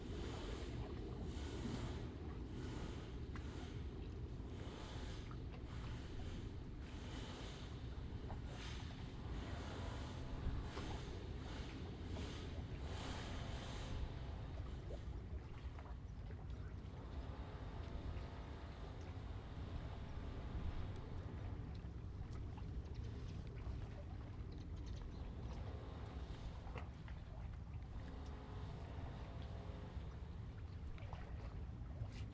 Waves and tides 0.0 - 32.3

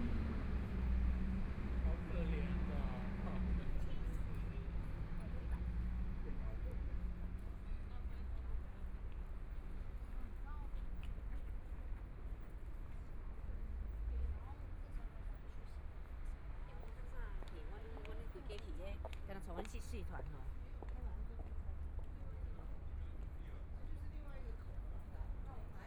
Many tourists 0.0 - 25.8
Traffic Sound 0.0 - 25.8
Walking through the park 5.6 - 25.8

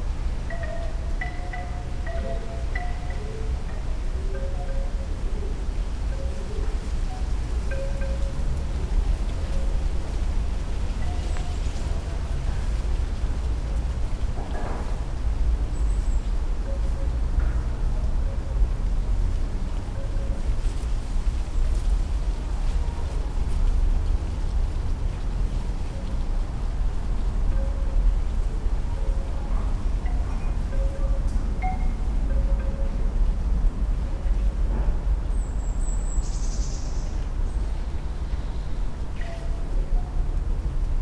wooden wind chime 0.4 - 5.3
traffic comes over the top of the buildings 3.5 - 41.0
wooden wind chime 27.5 - 34.6

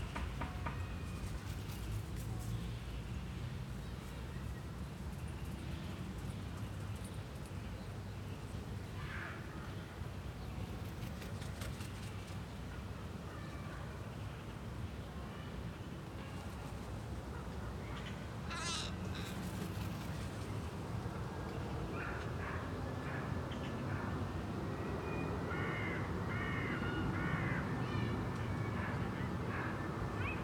flaps of crows' wings 0.1 - 2.5
flaps of crows' wings 10.7 - 12.4
flaps of crows' wings 18.6 - 20.8

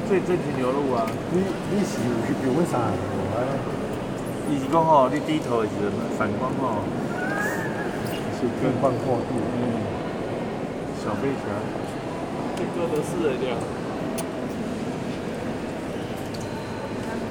Guided tour of Japanese tourists, speaking smoothly 0.0 - 15.6

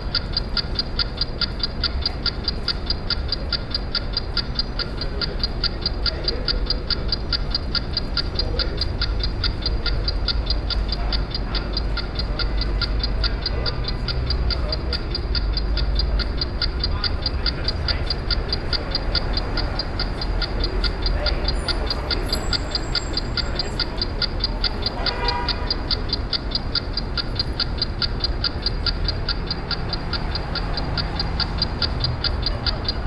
Shop of watches 0.0 - 33.0
urban traffic 0.0 - 33.0

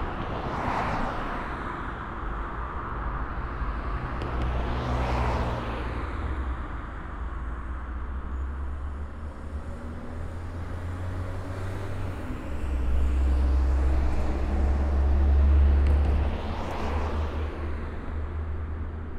Traffic 0.0 - 19.1

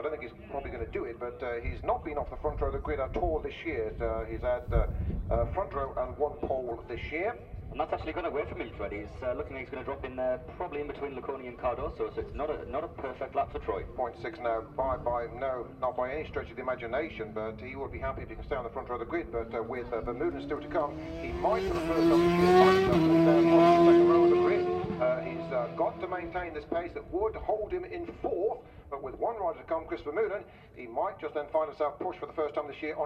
world superbikes 0.0 - 30.8
commentary 0.0 - 33.0

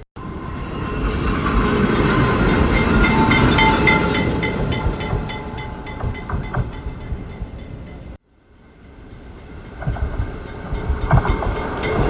Train traveling back and forth 0.0 - 12.0

